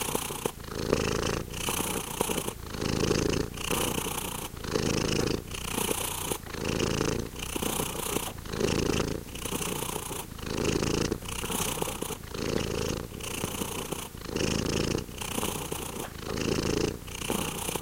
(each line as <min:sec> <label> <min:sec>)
0:00.0 Cat purring 0:17.8